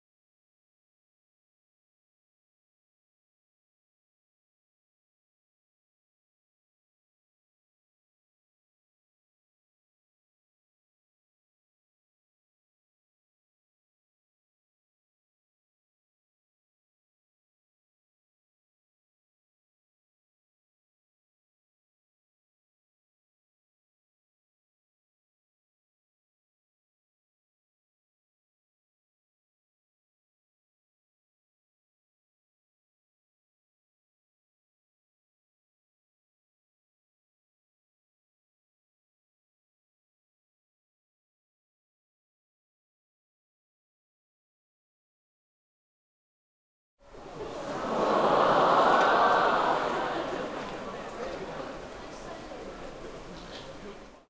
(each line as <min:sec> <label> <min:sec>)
0:47.1 crowd 0:54.2
0:47.9 applause 0:52.2